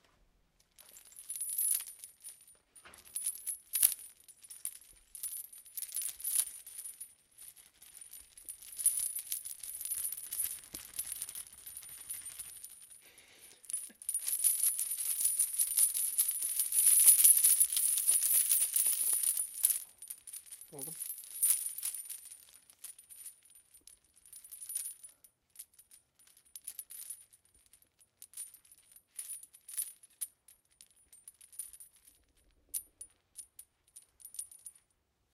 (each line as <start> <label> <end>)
0.8 Rattling a couple metal chains together 34.8